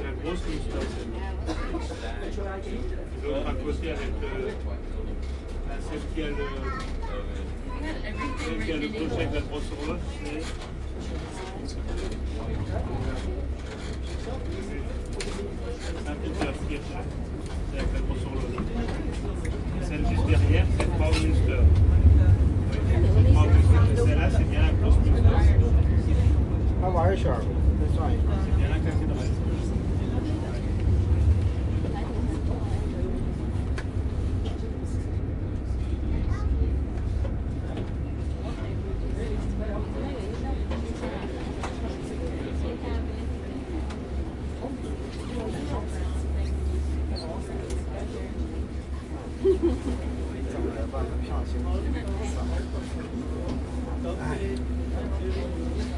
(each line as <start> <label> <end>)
0.0 people speaking multiple languages 55.9
0.0 regional train ride 55.9